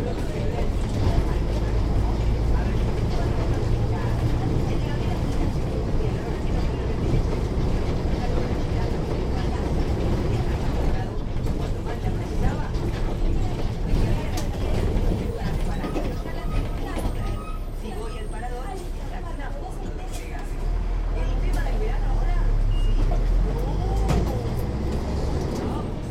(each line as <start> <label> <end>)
0.0 bus is going downtown 26.1